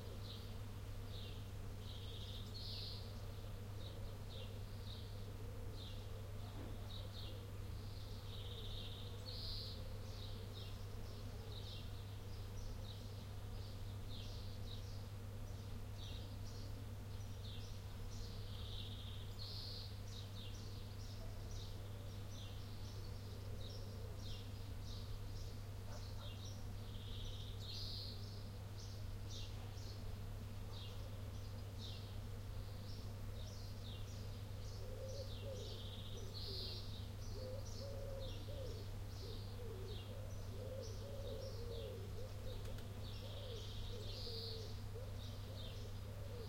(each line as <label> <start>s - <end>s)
birds 0.0s - 46.4s